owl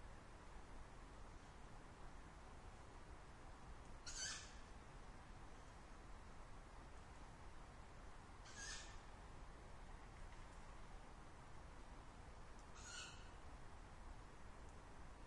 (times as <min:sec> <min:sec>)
0:04.0 0:04.7, 0:08.4 0:09.1, 0:12.7 0:13.4